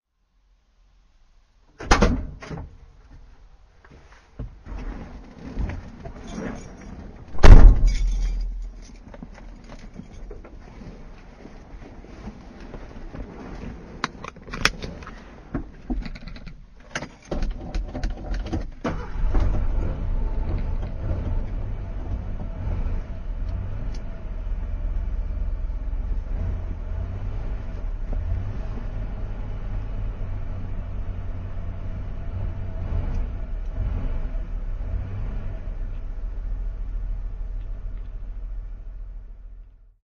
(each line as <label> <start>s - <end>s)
OPEN TRUCK DOOR 1.7s - 2.8s
OPEN TRUCK DOOR 4.4s - 10.6s
OPEN TRUCK DOOR 14.0s - 23.1s